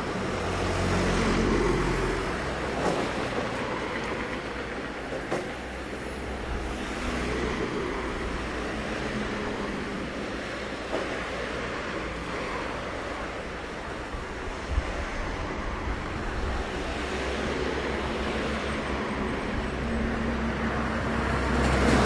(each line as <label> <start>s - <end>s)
Cars 0.0s - 22.0s